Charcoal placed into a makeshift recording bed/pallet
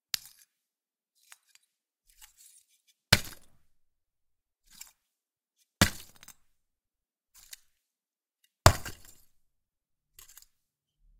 0:04.6 0:05.0

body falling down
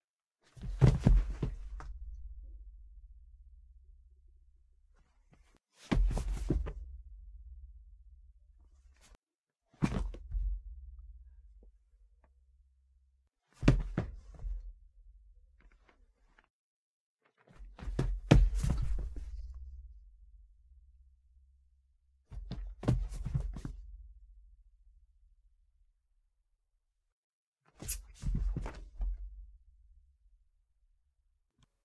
0:00.6 0:01.9, 0:13.6 0:14.4, 0:17.8 0:19.4

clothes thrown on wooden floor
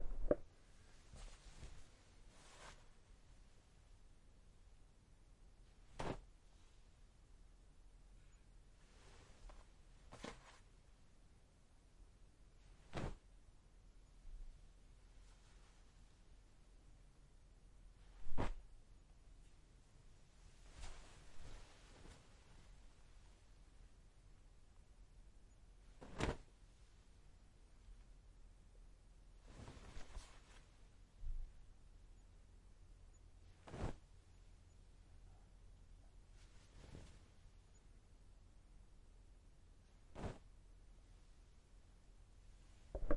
0:12.9 0:13.2, 0:40.1 0:40.4

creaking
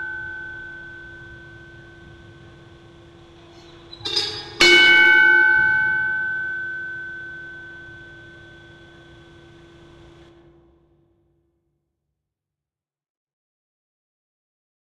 0:03.2 0:04.7

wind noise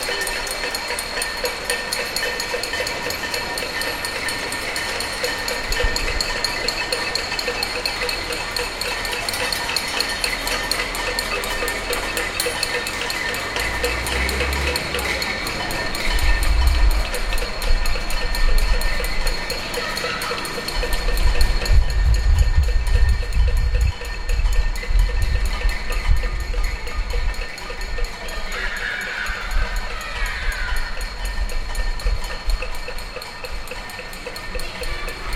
0:05.2 0:06.7, 0:15.8 0:19.4, 0:20.8 0:33.7

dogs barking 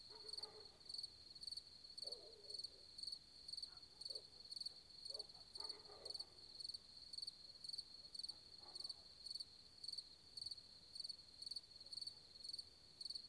0:00.1 0:00.8, 0:05.1 0:06.3

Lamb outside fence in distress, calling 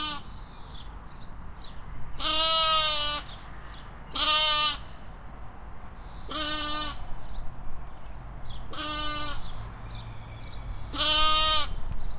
0:00.0 0:00.3, 0:02.2 0:03.3, 0:04.1 0:04.9, 0:06.2 0:07.0, 0:08.7 0:09.4, 0:10.9 0:11.8

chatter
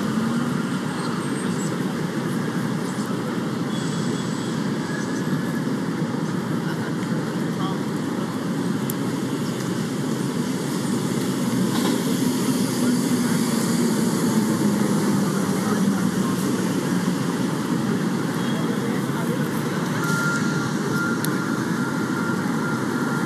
0:11.8 0:23.2

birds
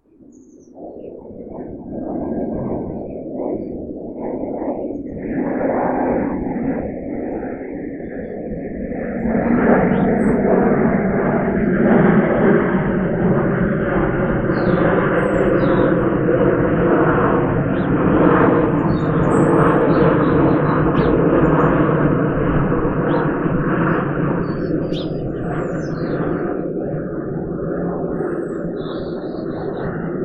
0:00.1 0:01.6, 0:09.0 0:10.8, 0:14.0 0:16.4, 0:17.0 0:26.8, 0:28.0 0:30.2

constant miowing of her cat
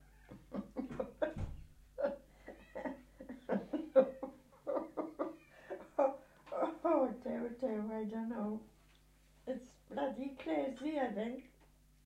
0:00.0 0:00.5, 0:02.4 0:03.1

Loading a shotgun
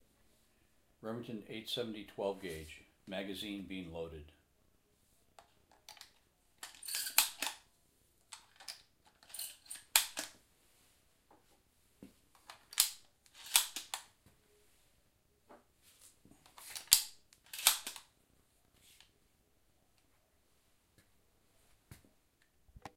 0:05.4 0:07.6, 0:08.3 0:10.4, 0:12.4 0:14.1, 0:16.5 0:18.1

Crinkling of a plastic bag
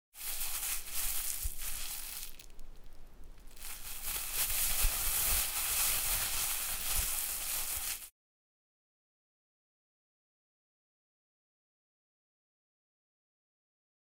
0:00.2 0:08.1

